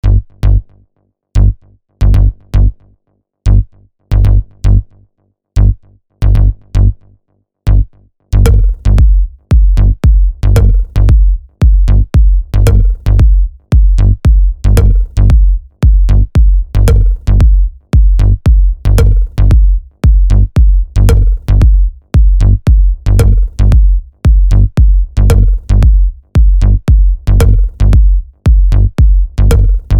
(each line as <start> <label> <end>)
0.0 bass 29.9
8.4 drums 29.9